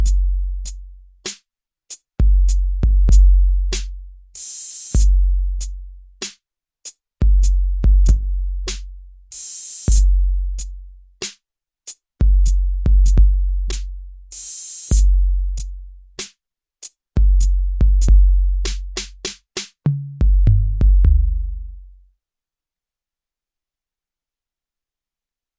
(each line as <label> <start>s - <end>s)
drum 0.0s - 0.3s
drum 2.2s - 5.2s
drum 7.2s - 10.2s
drum 12.2s - 16.4s
drum 17.2s - 21.8s